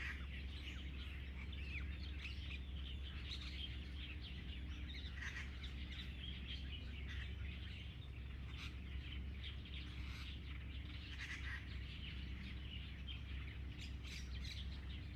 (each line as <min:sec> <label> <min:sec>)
0:00.0 Birdsong 0:15.1